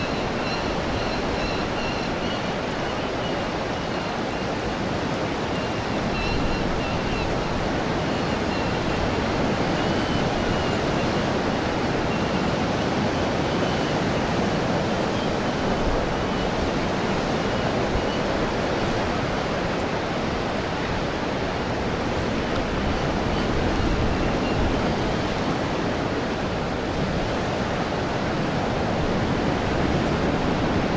waves of incoming tide 0:00.0 - 0:30.9

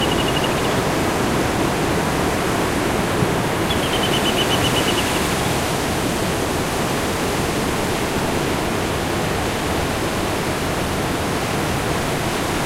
Bird singing 0:00.0 - 0:01.0
sea 0:00.0 - 0:12.6
Bird singing 0:03.6 - 0:05.5

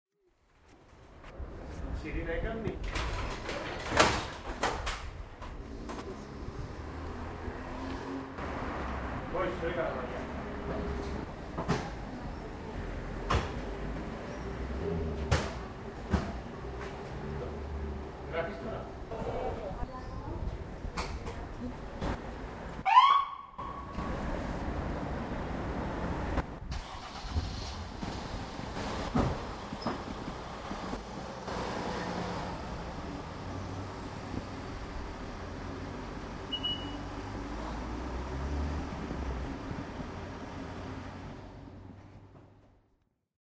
siren 0:22.8 - 0:23.9

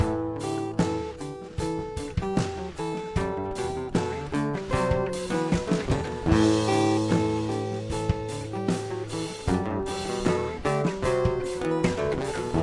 guitar 0:00.0 - 0:12.6

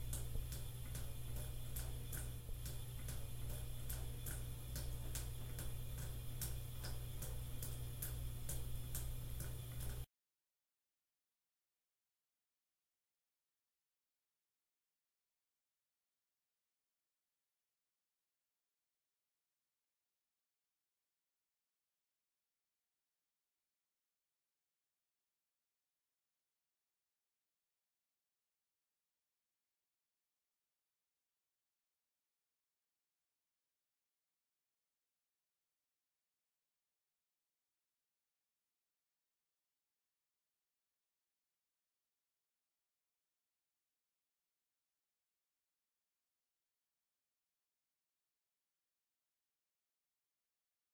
water dripping out of a faucet into a bathtub 0:00.0 - 0:10.1

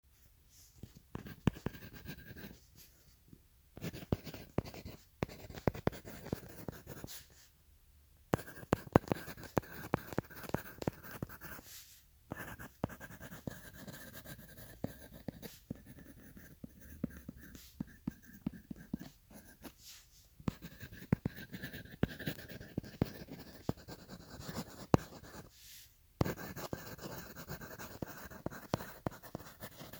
Writing on paper with pencil 0:00.5 - 0:03.2
Writing on paper with pencil 0:03.8 - 0:07.5
Writing on paper with pencil 0:08.3 - 0:29.9

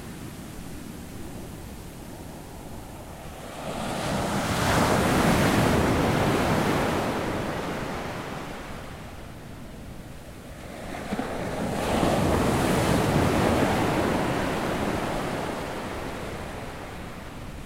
waves 0:00.0 - 0:17.6

